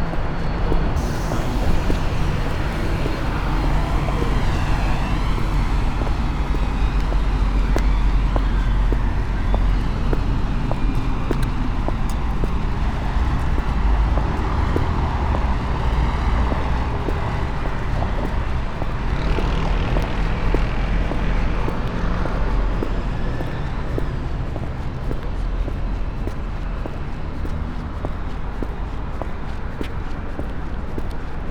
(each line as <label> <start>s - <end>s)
walking 0.0s - 31.5s
water fall 1.0s - 5.0s